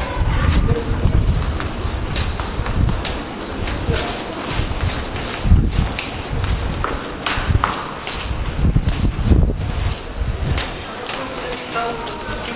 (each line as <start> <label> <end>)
0.0 train to come in a subway station 6.8
9.4 train to come in a subway station 12.5